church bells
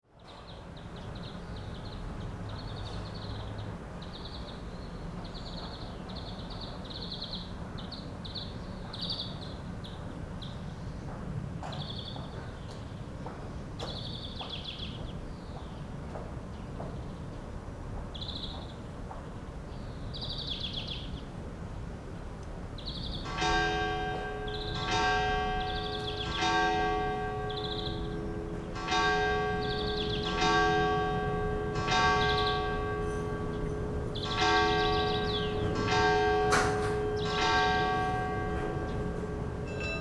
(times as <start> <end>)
23.0 40.0